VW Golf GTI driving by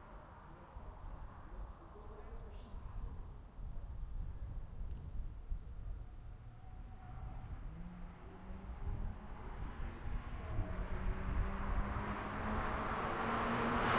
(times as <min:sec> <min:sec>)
0:07.0 0:13.9